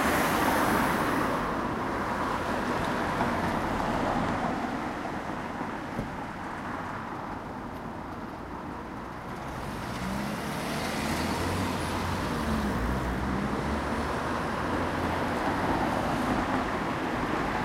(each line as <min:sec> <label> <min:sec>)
0:00.0 Traffic 0:17.6